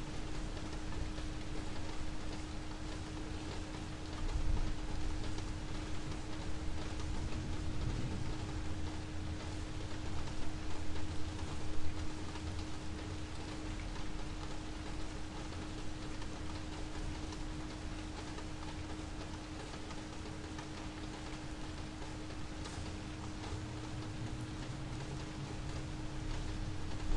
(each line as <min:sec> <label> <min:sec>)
0:00.0 rain 0:27.1
0:07.6 thunder 0:08.7